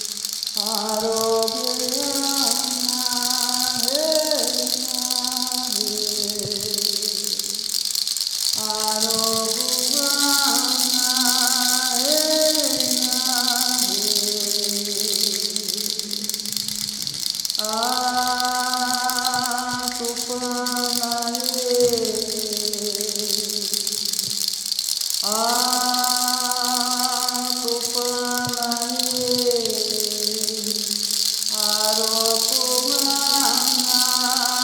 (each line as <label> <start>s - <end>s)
Der Rasseln, der Maracá, im Hintergrund 0.0s - 34.6s
performs a traditional prayer 0.0s - 34.6s